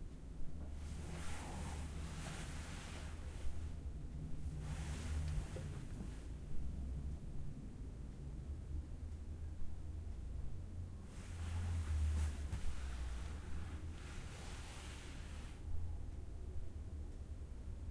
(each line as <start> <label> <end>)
0.7 couch rustle 3.8
4.5 couch rustle 6.3
11.2 couch rustle 15.6